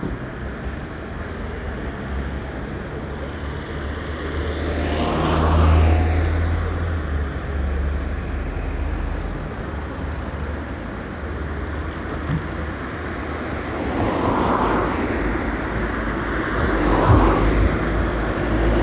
traffic 0:00.0 - 0:18.8

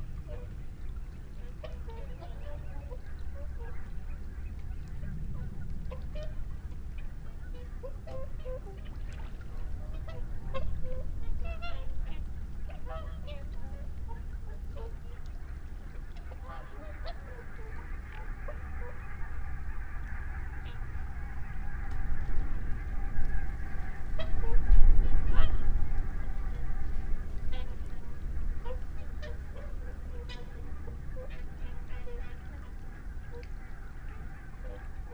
barnacle geese 0:00.0 - 0:35.1
curlew 0:00.0 - 0:35.1
mallard 0:07.4 - 0:35.1

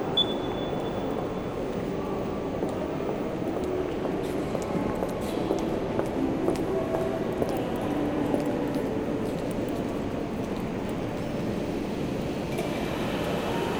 People buying tickets on automatic machines 0:07.2 - 0:13.7

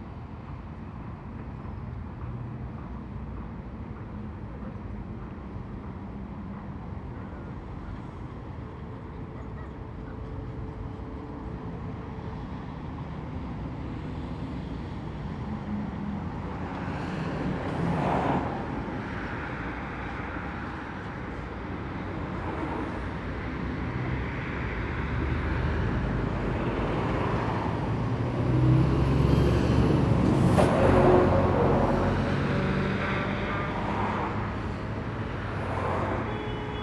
Dense morning traffic 0:00.0 - 0:36.8

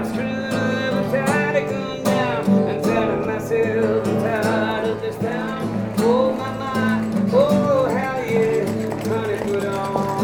Street guitarist 0:00.0 - 0:10.2

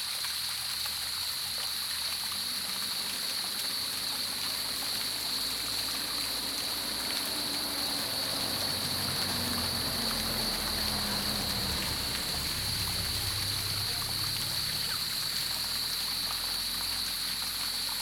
Cicadas called 0:00.0 - 0:18.0
Small streams 0:00.0 - 0:18.0

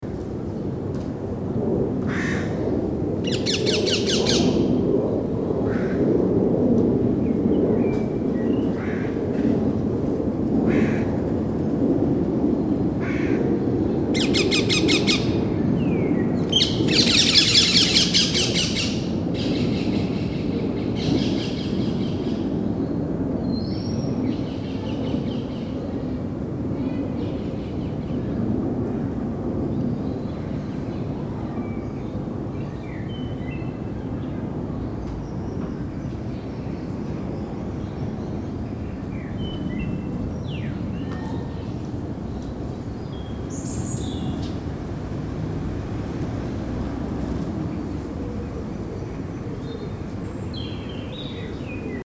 Crows 0:02.1 - 0:02.6
Crows 0:05.7 - 0:06.1
Crows 0:08.8 - 0:09.2
Crows 0:10.7 - 0:11.2
Crows 0:13.0 - 0:13.5

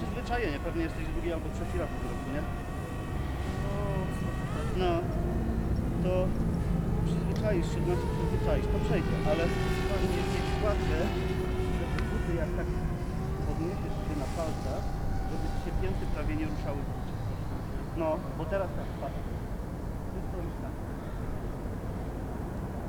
their conversation 0:00.0 - 0:21.1
small, agile drone 0:00.0 - 0:22.2
truck 0:00.0 - 0:22.8

